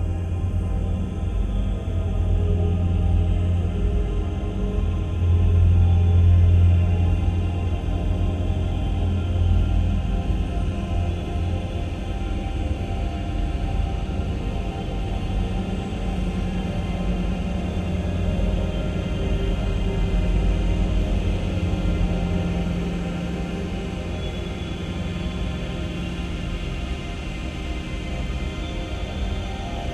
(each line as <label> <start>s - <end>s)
slowly evolving dreamy ambient drone pad 0.0s - 29.9s